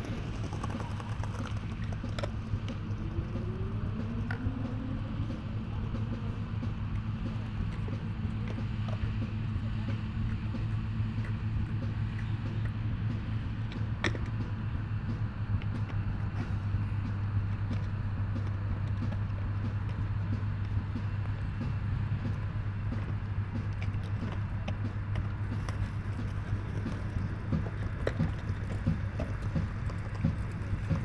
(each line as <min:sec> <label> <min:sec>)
0:00.0 mower at work 0:10.4
0:00.0 Skaters 0:31.0
0:00.0 music from a beatbox 0:31.0